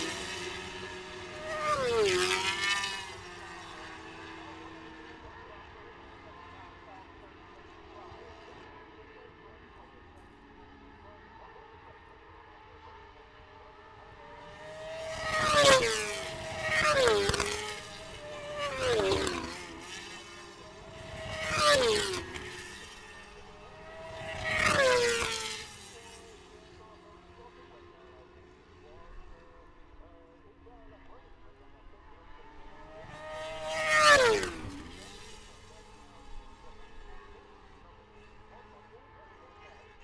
0.0s motorcycle grand prix 40.0s

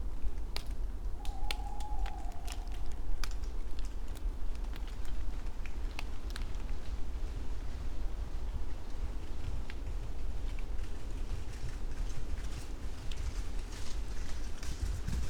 0.0s Raindrops from leaves 11.0s
1.0s an owl 5.0s

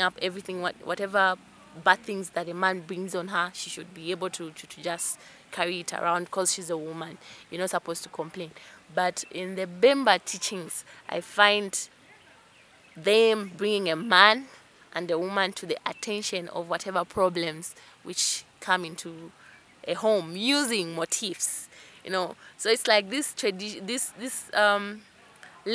0.0s she describes 11.9s
13.0s she describes 25.0s

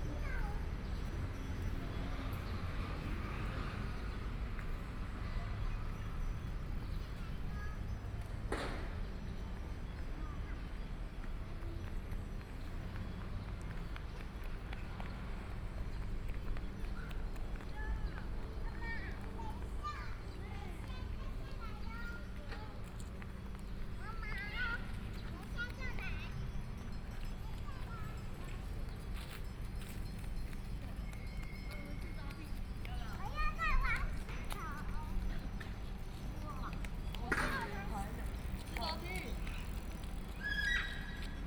0.0s Traffic Sound 41.4s

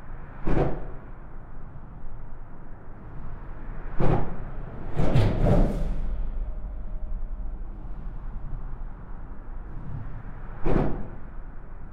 2.6s trafic of cars and lorries 11.9s

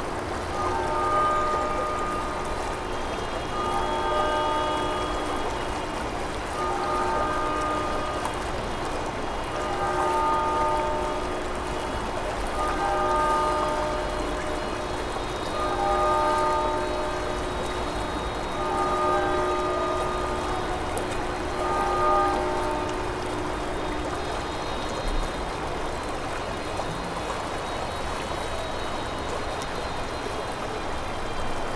0.0s city traffic noise 31.7s
0.0s river gurgling 31.7s

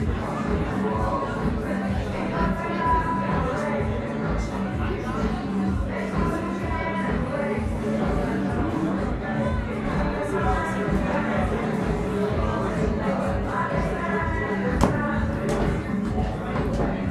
0.0s partying guests 17.1s

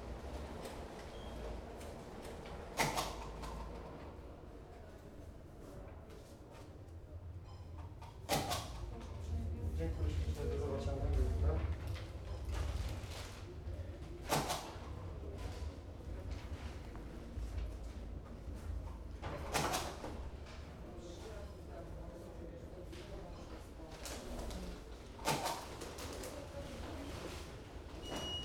0.0s business customers clearing customs and picking up their parcels 28.4s
1.5s conversations 27.9s

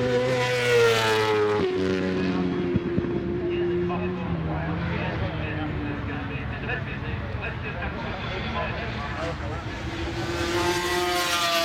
0.0s 500cc motorcyle warm up 11.6s

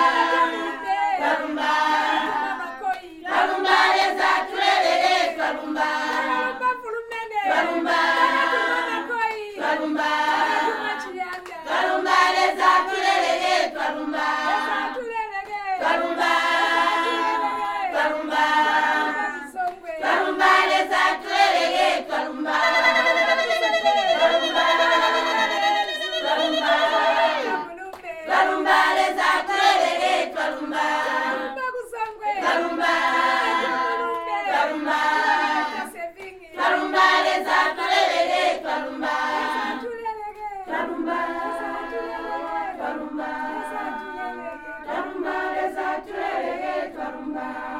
0.0s thank you song by all the women 47.7s

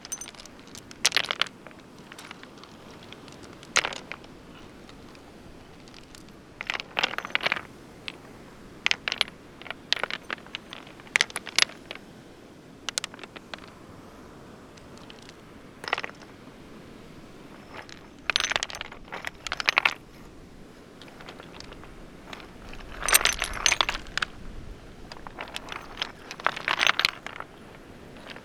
0.0s throwing some of the smaller ones over the bigger rocks 12.1s
0.0s moving about some rocks and pebbles 28.4s
12.8s throwing some of the smaller ones over the bigger rocks 28.4s

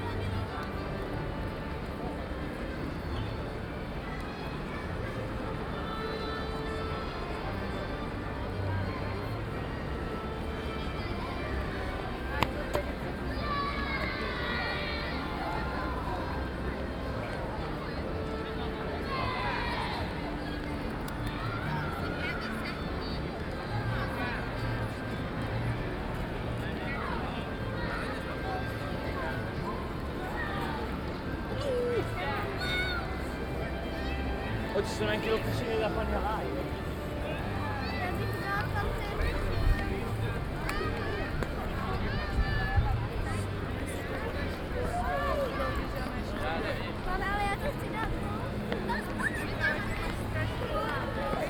0.0s people 51.4s
30.2s children 34.3s

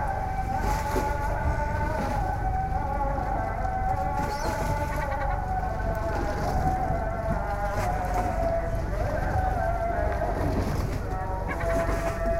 0.0s Lapping of the waves 12.3s
0.0s seagulls 12.3s
0.0s song of the muezzin 12.3s

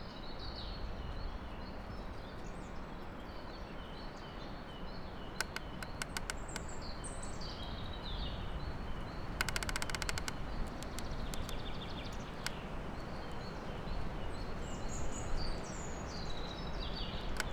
5.4s snapped branch jammed between two trees, creaking 6.9s
9.0s snapped branch jammed between two trees, creaking 13.4s
17.2s snapped branch jammed between two trees, creaking 17.5s

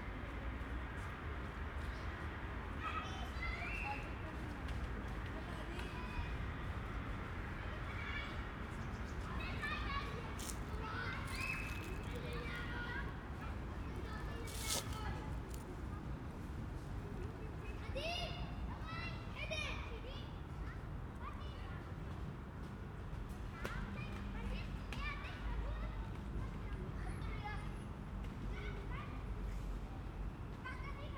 0.0s The city is very present at a distance 31.1s
7.6s children 16.2s
9.1s rustling leaves 16.5s
10.2s footsteps 12.6s
14.0s footsteps 15.8s

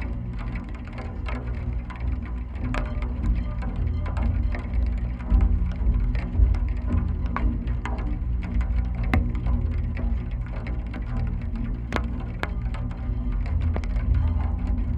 11.7s Drops often hit on, or very close to, the mics 12.8s

